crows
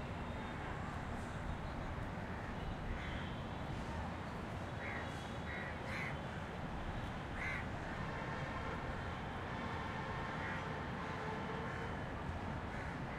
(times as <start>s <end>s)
4.8s 6.2s, 7.4s 7.7s